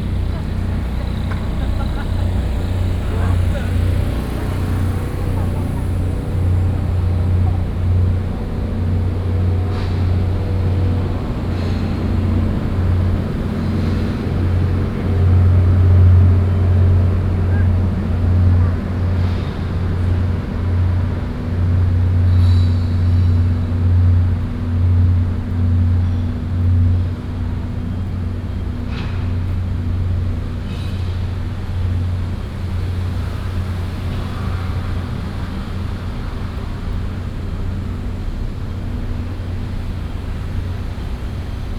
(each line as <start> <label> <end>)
0.0 TV satellite trucks noise 24.4
0.0 Noise Generator 30.7